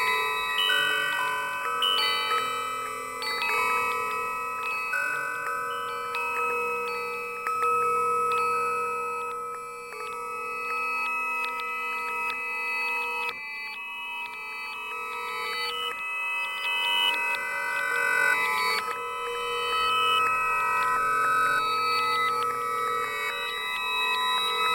high-pitched, metal windchime 0.0 - 24.7

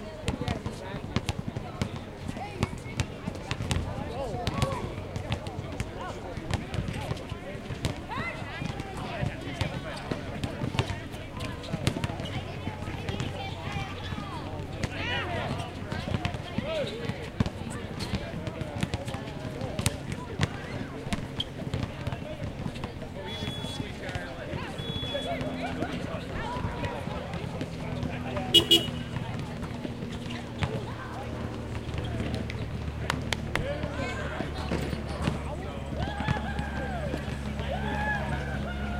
basketball crowd 0.0 - 38.9

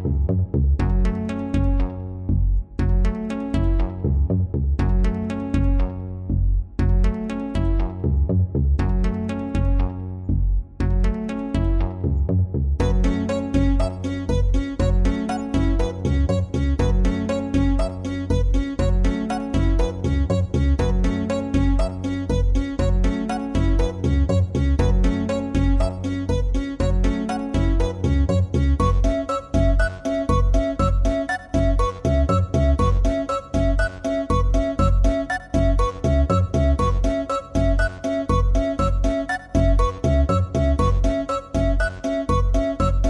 song 12.8 - 43.0

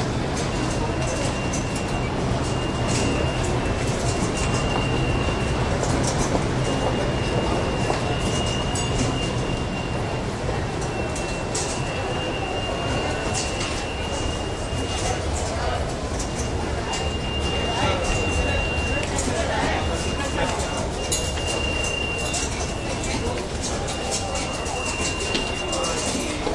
subway turnstyles busy 0.0 - 26.5

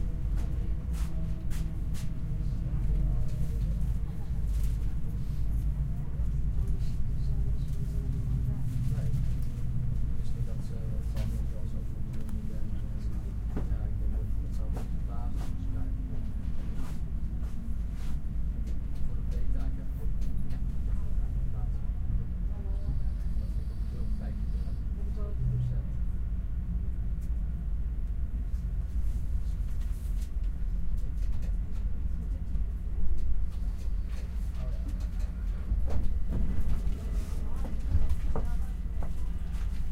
people walk in and out 0.0 - 39.9
people speak 0.3 - 18.1
people speak 18.7 - 26.0
people speak 33.6 - 39.9

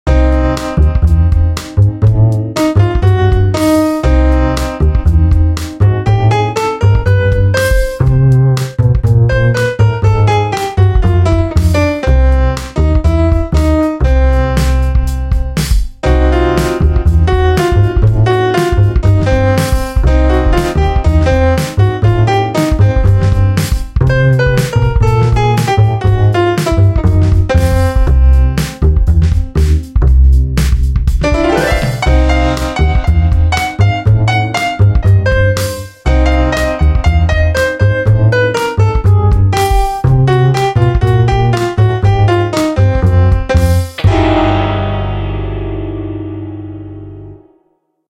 double bass 0.1 - 47.4
piano 0.1 - 47.9

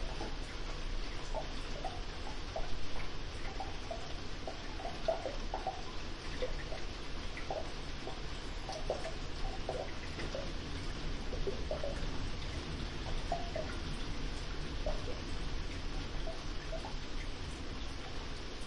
'Trickling' from gutter and drainpipes 0.0 - 18.6
Rain on polycarbonate 0.0 - 18.6
drain sounds 0.0 - 18.6
drips 0.0 - 18.6

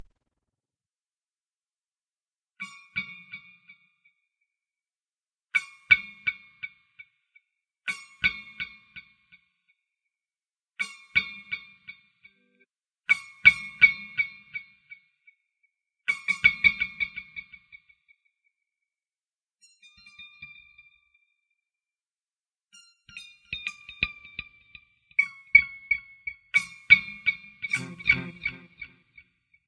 Guitar-Short Delay 27.7 - 29.0

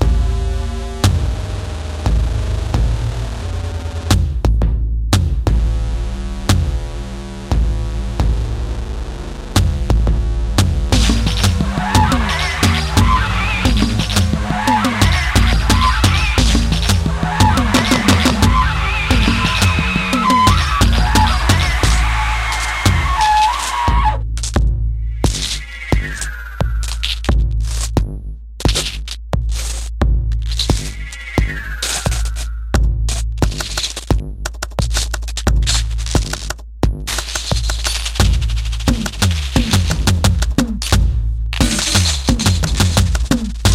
beat 9.6 - 43.7

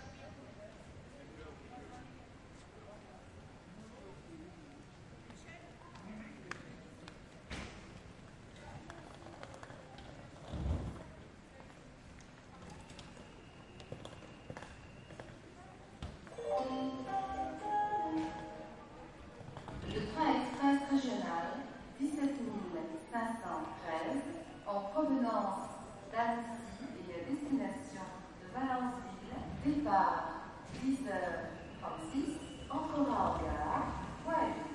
crowd 0.0 - 20.6
train 0.0 - 34.7
French announcements 16.3 - 19.2
French announcements 19.9 - 34.7

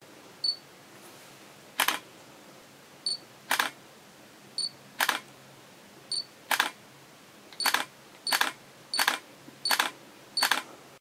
camera click 1.8 - 2.0
Camera beep 3.1 - 3.7
camera click 3.5 - 3.8
Camera beep 4.6 - 5.2
camera click 5.0 - 5.2
Camera beep 6.1 - 6.8
camera click 6.5 - 6.8
Camera beep 7.6 - 10.6
camera click 7.6 - 10.6

